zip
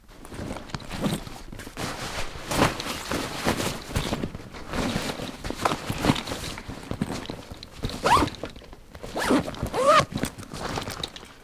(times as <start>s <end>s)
7.9s 8.4s, 9.0s 10.9s